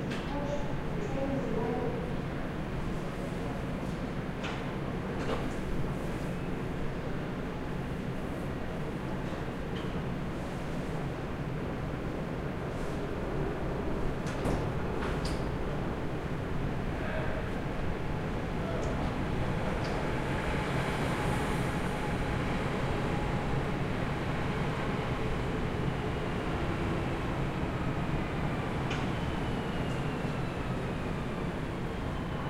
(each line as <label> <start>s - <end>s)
train doors 14.0s - 15.9s
train doors 25.9s - 32.4s